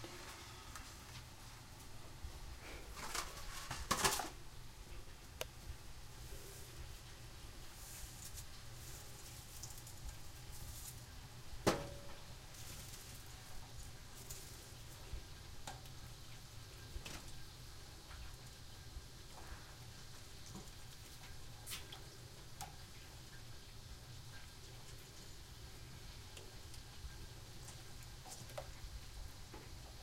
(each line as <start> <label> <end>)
2.6 bowling water for noodles and sauce 30.0